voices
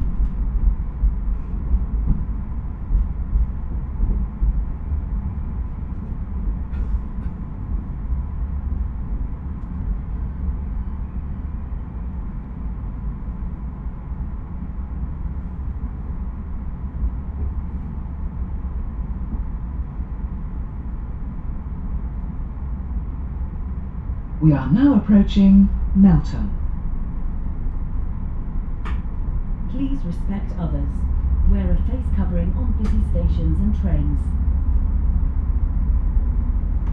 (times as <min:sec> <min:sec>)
0:24.4 0:26.6, 0:29.7 0:34.4